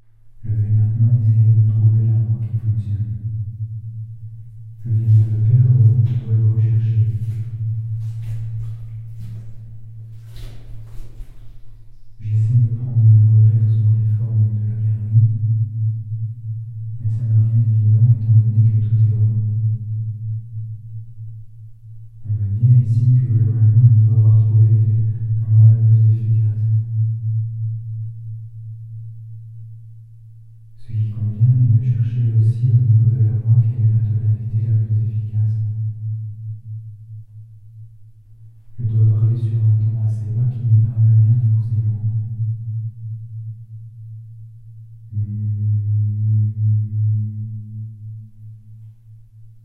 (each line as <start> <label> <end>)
0.4 talking into the tunnel 3.2
4.8 talking into the tunnel 9.4
12.2 talking into the tunnel 15.4
17.0 talking into the tunnel 19.4
22.2 talking into the tunnel 26.8
30.8 talking into the tunnel 35.7
38.8 talking into the tunnel 42.3